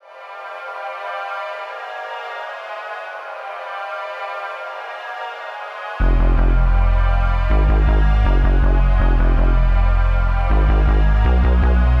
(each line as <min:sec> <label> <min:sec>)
0:00.0 synthesizer 0:12.0